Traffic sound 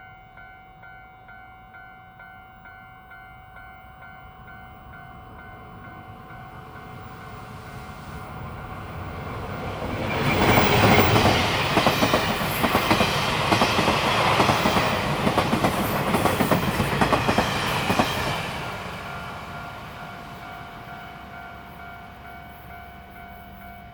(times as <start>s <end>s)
4.3s 22.9s